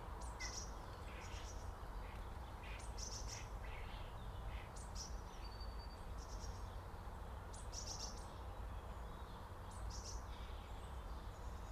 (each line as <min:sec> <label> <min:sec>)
0:00.0 Sparrows 0:11.7